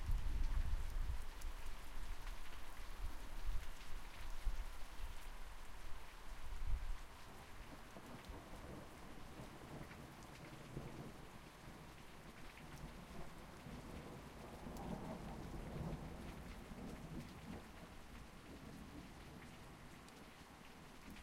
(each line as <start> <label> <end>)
0.0 rain 21.2